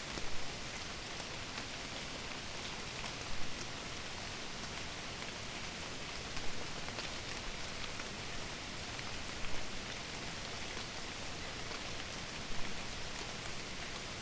rain 0.0 - 14.2

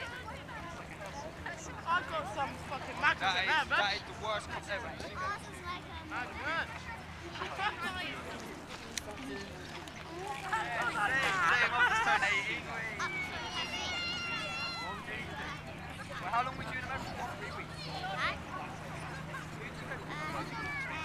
Local lads 0.0 - 21.0

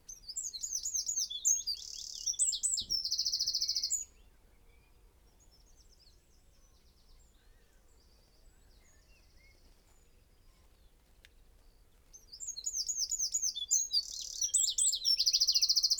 willow warblers 0.1 - 4.3
robin 0.1 - 9.6
blackbird 0.1 - 15.9
willow warblers 5.4 - 15.9
robin 12.1 - 15.9

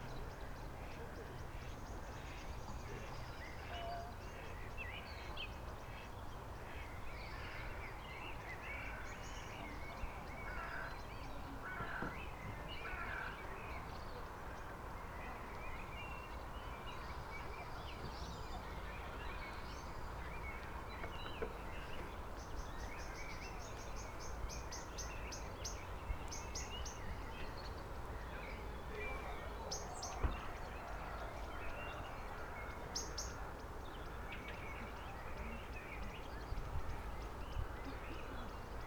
crows 10.5 - 10.9
crows 11.6 - 12.2
crows 12.8 - 13.4

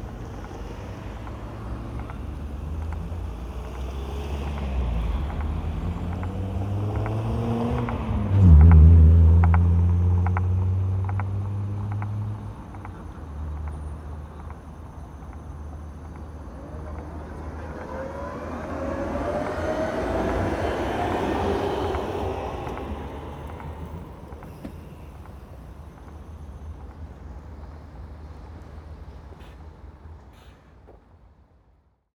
passing cars 0.0 - 30.3
Tram rumble 0.0 - 31.4

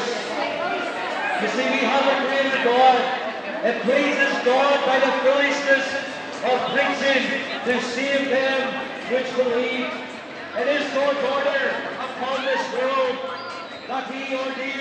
Gospel preaching 0.0 - 14.8
shoppers, pedestrians, families 0.0 - 14.8

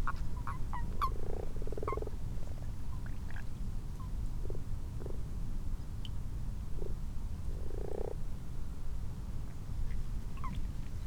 common toads 0.0 - 2.2
common frogs 0.0 - 5.4
common frogs 6.6 - 8.3
common toads 6.8 - 8.2

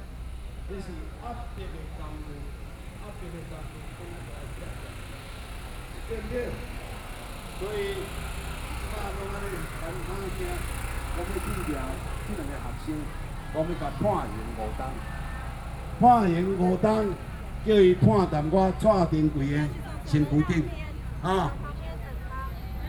protest 12.0 - 22.4

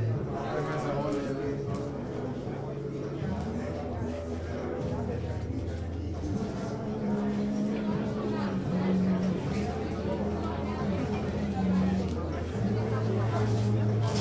voices 0.0 - 14.2

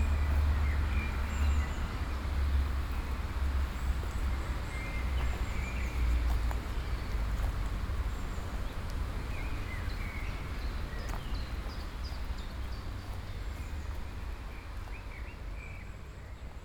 birds 3.6 - 16.6

